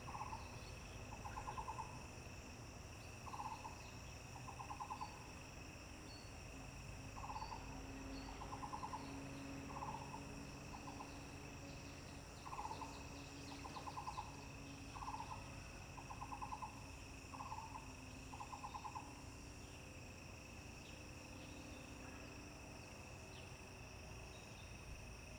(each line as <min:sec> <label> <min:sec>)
0:00.0 Frogs chirping 0:25.3
0:00.0 insects 0:25.3